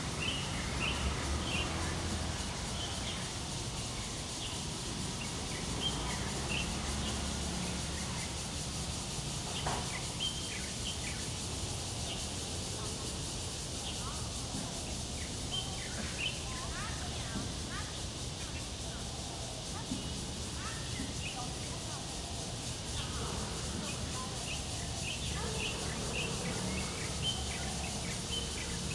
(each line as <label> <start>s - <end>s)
Cicadas cry 0.0s - 28.9s
Traffic Sound 0.0s - 28.9s